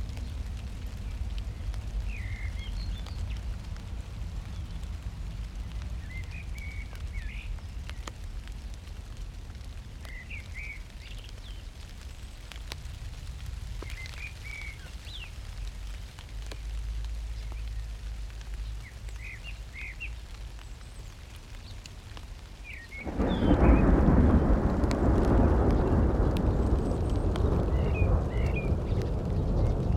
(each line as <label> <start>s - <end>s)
crackly rain 0.0s - 29.9s
evening blackbirds 0.2s - 3.5s
evening blackbirds 13.8s - 15.7s
evening blackbirds 18.6s - 29.9s
Spatial thunder 23.0s - 29.9s
distant city 23.1s - 29.9s